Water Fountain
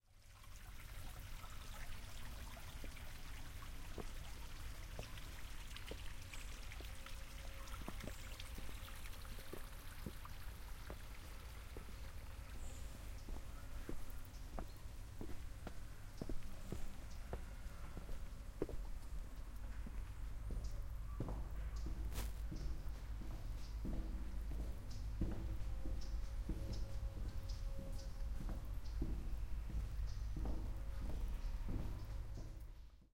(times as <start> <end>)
0.1 14.2